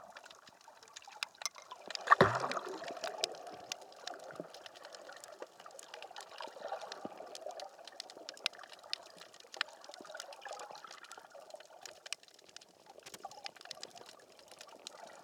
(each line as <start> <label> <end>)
1.3 throwing pebbles into the water 3.3